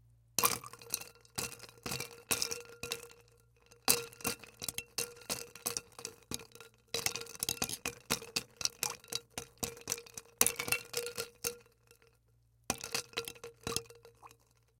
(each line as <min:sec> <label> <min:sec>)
0:00.4 ice clanking against container 0:03.1